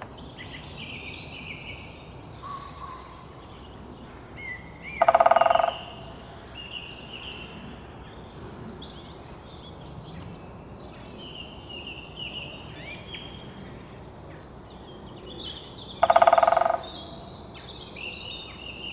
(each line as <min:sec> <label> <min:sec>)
0:04.8 Greater Spotted Woodpecker drumming 0:06.2
0:15.8 Greater Spotted Woodpecker drumming 0:17.3